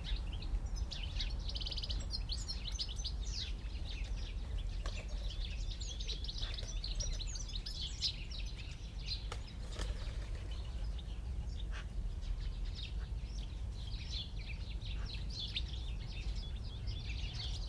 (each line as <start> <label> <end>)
0.0 greenfinches 17.6
0.0 sparrows 17.6
0.9 Magpies very close 13.4